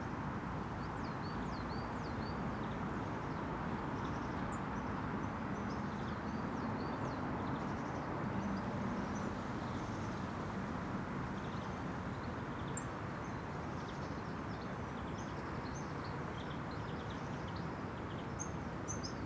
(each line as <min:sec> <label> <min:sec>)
0:02.6 road sounds pass above me 0:19.2